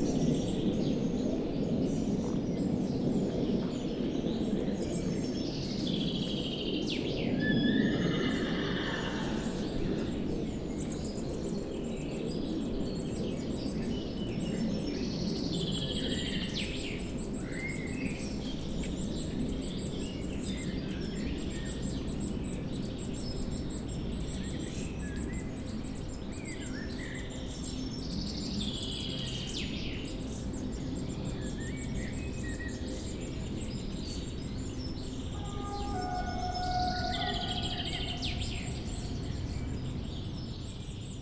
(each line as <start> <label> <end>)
0.0 plane takes off 12.2
7.4 neighing of the horses 10.3
30.5 plane takes off 41.2
34.0 train passes on the tracks 41.2
35.2 bird chirps 40.6